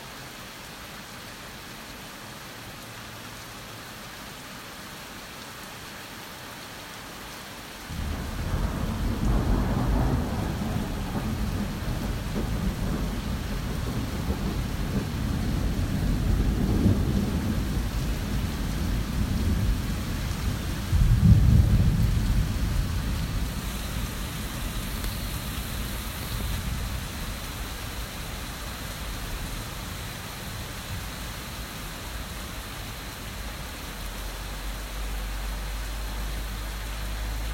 Heavy rain 0:00.0 - 0:37.5
thunderstorm 0:07.9 - 0:33.6

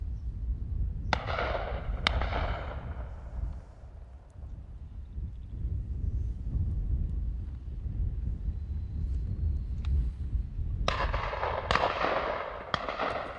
wind noise 0:00.0 - 0:13.3
Distant gun shots 0:01.1 - 0:03.4
Distant gun shots 0:10.9 - 0:13.3

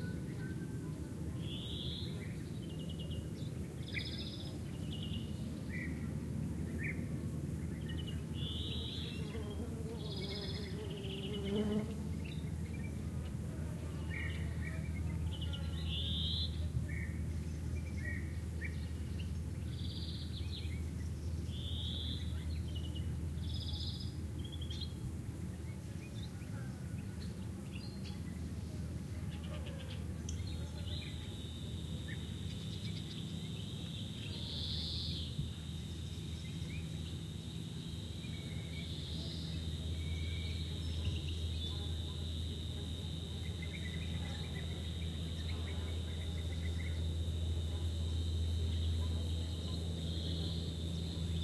bee-eaters 0:00.0 - 0:20.8
cicadas 0:00.0 - 0:51.4
flies 0:02.9 - 0:16.6
wasps 0:08.2 - 0:12.4
passing airplane 0:25.0 - 0:51.4
bee-eaters 0:25.8 - 0:51.4
flies 0:28.1 - 0:51.4

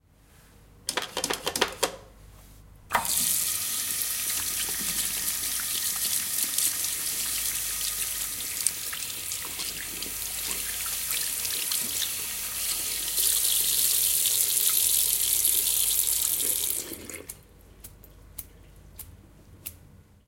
sink washing hands 0:03.0 - 0:17.4

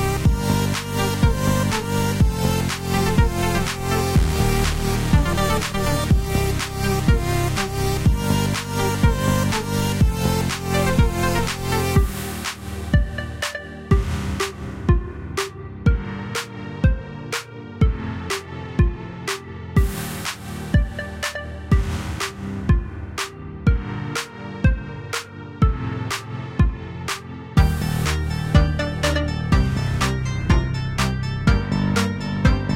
edm song 0:00.0 - 0:32.7

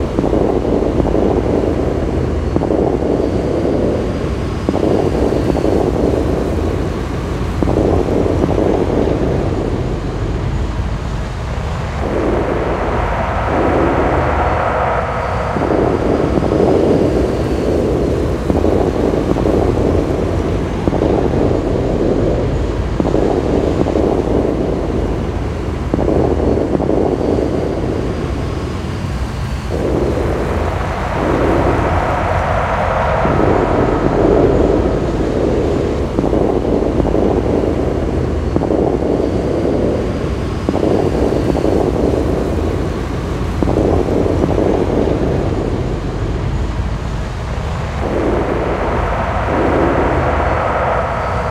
explosion 0:11.2 - 0:28.5
explosion 0:29.6 - 0:40.1
explosion 0:40.7 - 0:51.5

